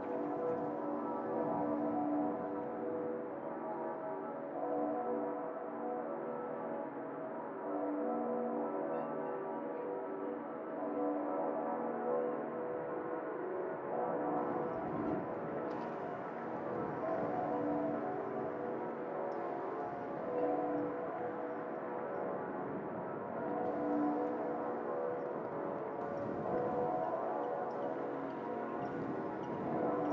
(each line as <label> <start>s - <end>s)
bells 0.0s - 12.6s
bells 14.2s - 30.1s